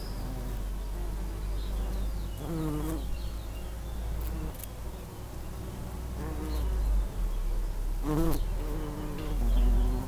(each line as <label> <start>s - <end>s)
bumble bees in a lavender bush 0.0s - 10.0s